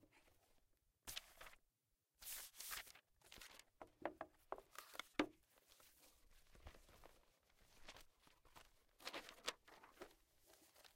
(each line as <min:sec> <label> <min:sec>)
0:01.1 paper shuffle 0:01.6
0:02.2 paper shuffle 0:03.7
0:04.6 paper shuffle 0:10.9